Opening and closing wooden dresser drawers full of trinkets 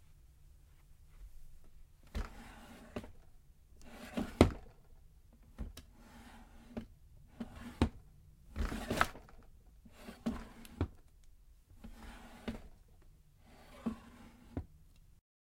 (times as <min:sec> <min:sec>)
0:02.0 0:03.2, 0:03.8 0:04.8, 0:05.5 0:11.1, 0:11.8 0:12.8, 0:13.4 0:14.7